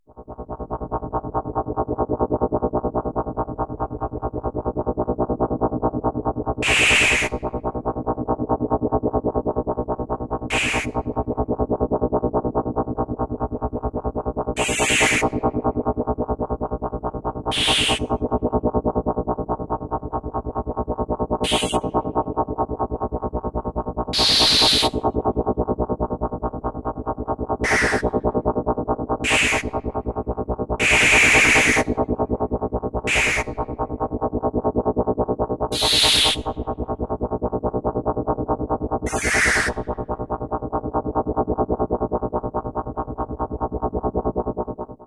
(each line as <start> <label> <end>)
0.1 artificially created machine or machinery sounds 45.0